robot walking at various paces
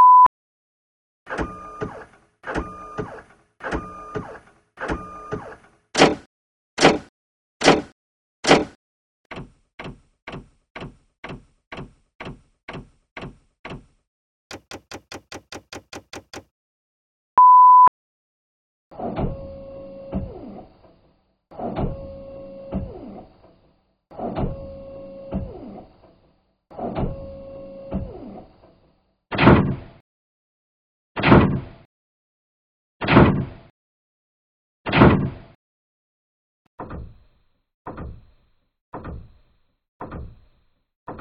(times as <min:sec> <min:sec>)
0:01.3 0:16.5